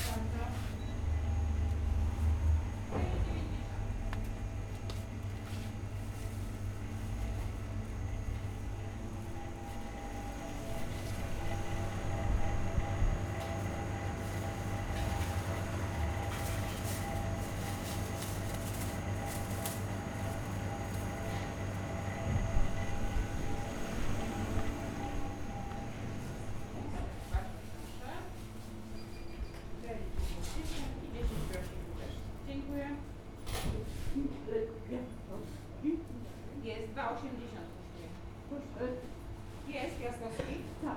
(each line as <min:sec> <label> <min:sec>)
0:06.4 refrigerating machine's drones 0:26.9
0:13.2 purchasing a loaf of bread 0:23.0